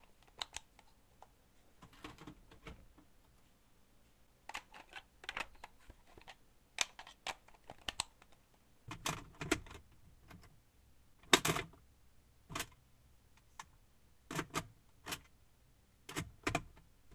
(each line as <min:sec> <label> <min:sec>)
0:00.1 Putting & pulling cartridges from Famicom 0:00.9
0:04.5 Putting & pulling cartridges from Famicom 0:09.7